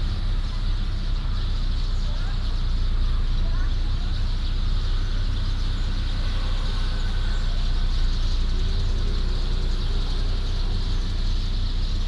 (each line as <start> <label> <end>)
0.0 Very many sparrows 12.0